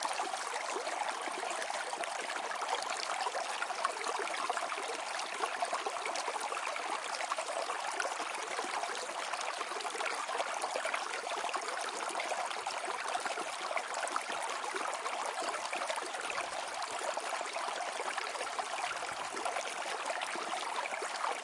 water streams 0:00.0 - 0:21.4

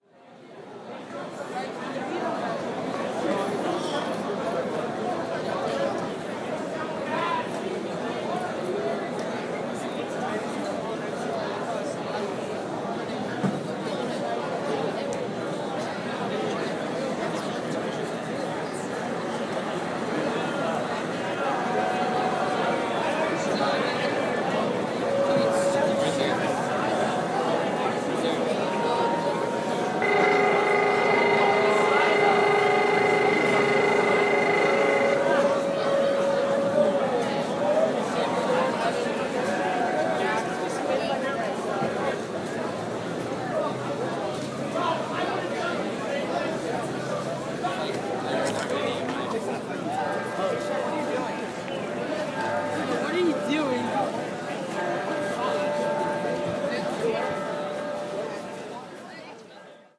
bell 0:21.7 - 0:38.9

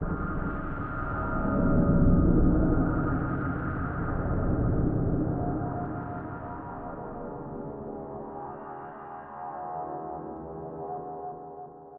drone 0:00.0 - 0:11.2

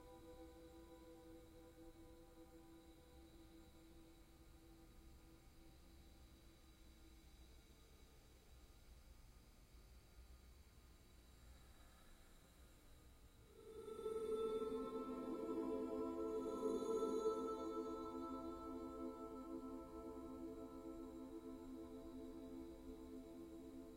drone 0:13.6 - 0:23.9

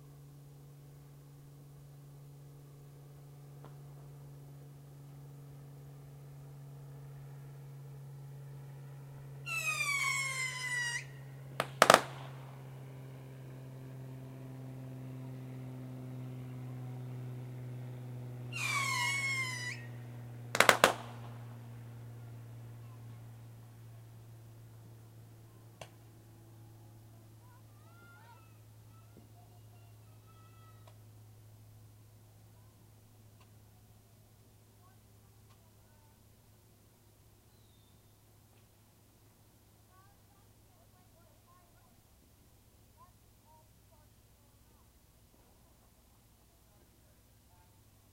airplane flys over 0:00.0 - 0:48.1
Fireworks 0:11.6 - 0:12.5
Fireworks 0:20.5 - 0:21.6

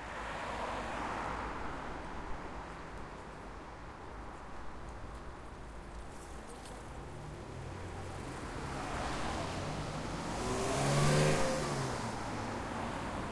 cars passing 0:07.8 - 0:13.3

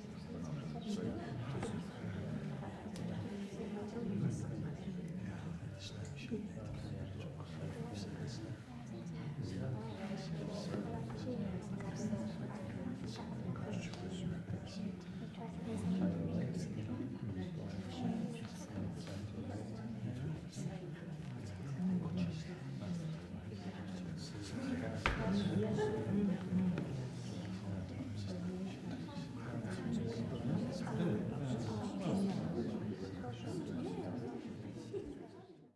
people quietly chatting 0:00.0 - 0:35.7

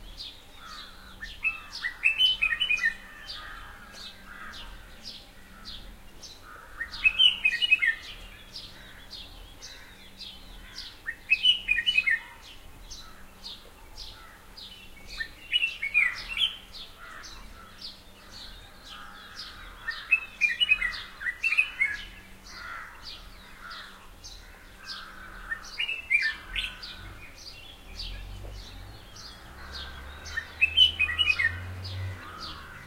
House Sparrows in the background 0:00.0 - 0:32.8
Red whiskered Bulbul singing 0:00.0 - 0:32.8

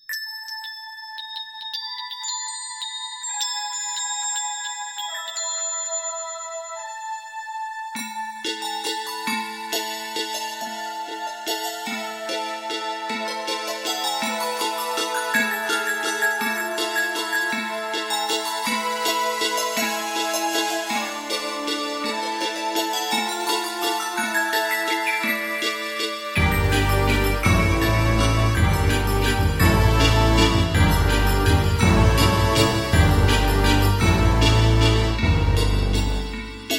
Instrumental 0:08.0 - 0:36.7

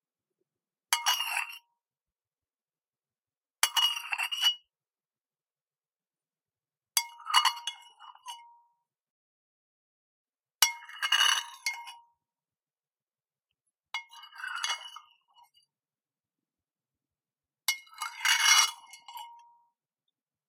spoon 0:01.0 - 0:01.6
spoon 0:03.6 - 0:04.7
spoon 0:07.0 - 0:08.5
spoon 0:10.6 - 0:12.1
spoon 0:14.0 - 0:15.7
spoon 0:17.7 - 0:19.6

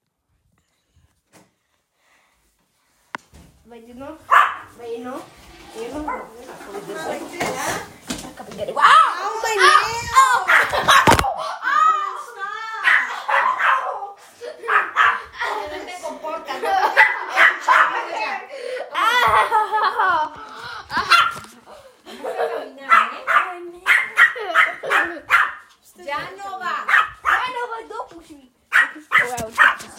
puppy barks 0:04.3 - 0:04.7
puppy barks 0:10.4 - 0:11.2
puppy barks 0:12.8 - 0:15.3
puppy barks 0:16.9 - 0:18.2
puppy barks 0:21.0 - 0:21.5
puppy barks 0:22.9 - 0:25.8
puppy barks 0:26.8 - 0:27.6
puppy barks 0:28.7 - 0:29.9

